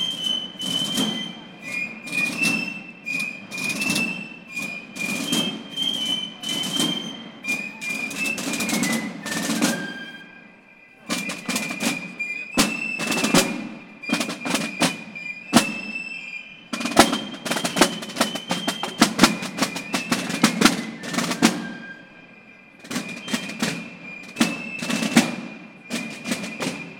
drummers 0.0 - 10.4
pipe players 0.0 - 26.9
drummers 11.1 - 26.9

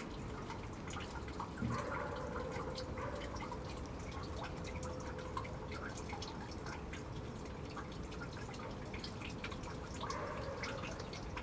Rain gathers 0.0 - 11.4
dog barks 1.6 - 3.5
dog barks 10.0 - 11.2

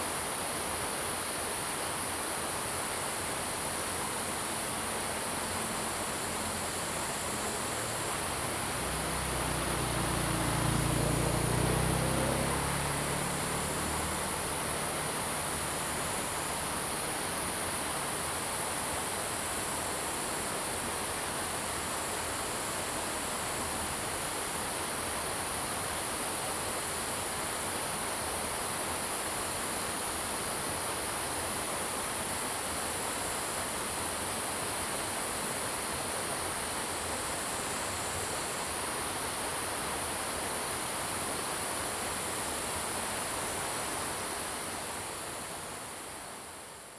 Stream 0.0 - 46.9
insects 0.0 - 46.9
Traffic Sound 7.9 - 16.8

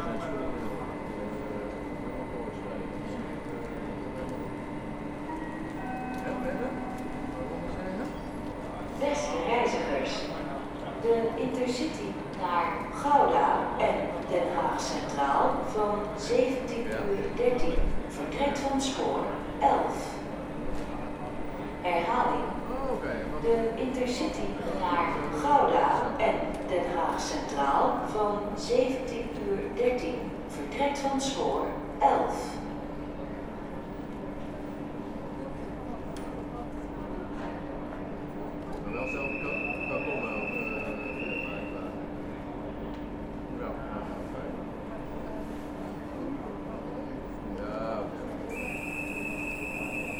other trains 0.0 - 50.1
several anouncements 38.9 - 42.0

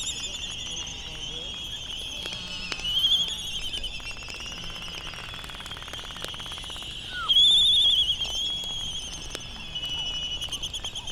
background noise from buggies 0.0 - 11.1
canary song 0.0 - 11.1
laysan calls and bill clapperings 0.0 - 11.1
voices 0.0 - 11.1

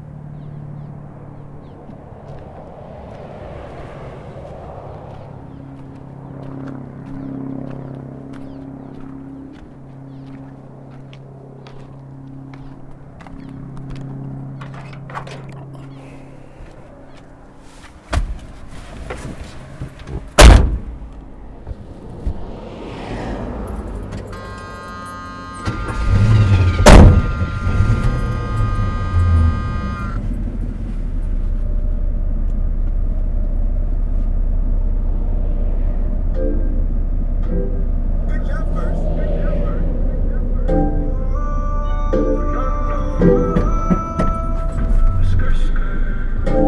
freeway traffic noises 0.0 - 46.6
here comes the train 38.3 - 46.6

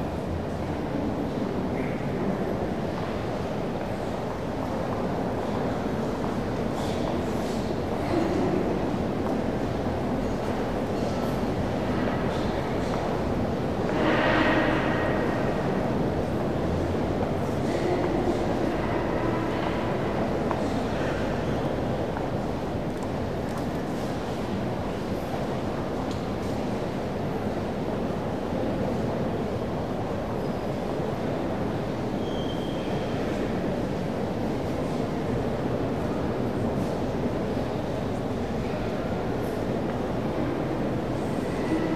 steps and talks of the tourist visitor inavsion 0.0 - 32.2

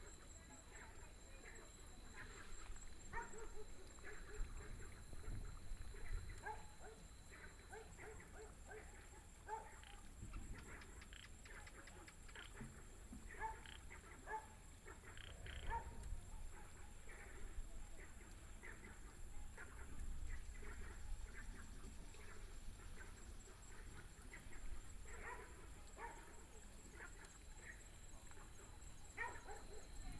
Frogs sound 0.0 - 30.1
Dogs barking 2.0 - 10.0
Dogs barking 13.3 - 21.6
Dogs barking 22.2 - 30.1

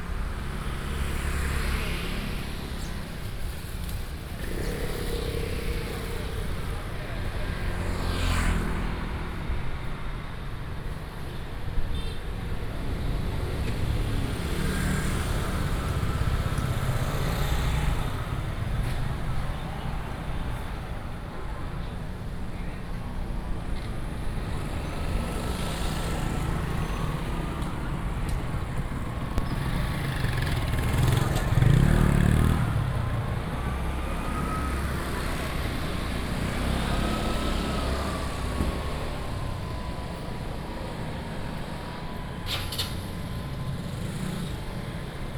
traffic sound 0.0 - 45.3

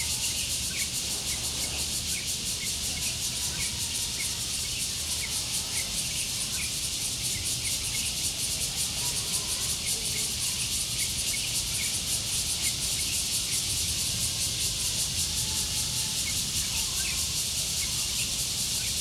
Cicadas cry 0.0 - 19.0

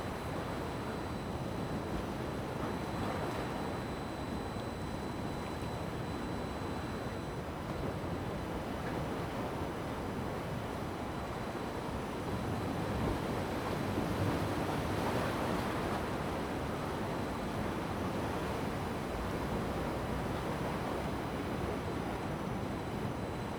waves 8.0 - 23.5

